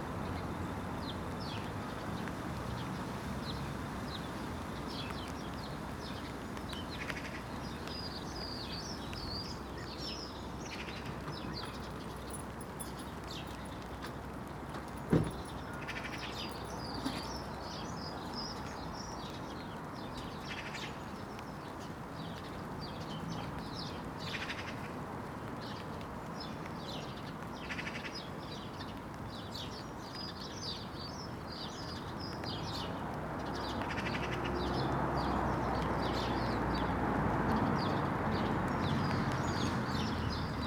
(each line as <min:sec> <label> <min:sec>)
0:15.1 chat of sparrows 0:21.2